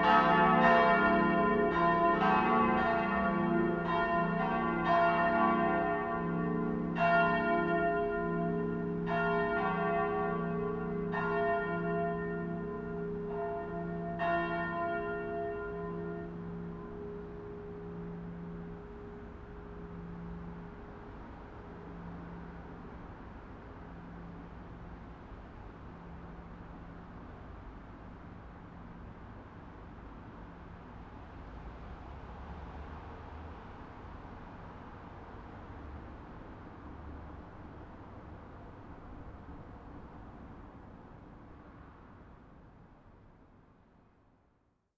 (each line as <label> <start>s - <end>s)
church bells 0.0s - 25.1s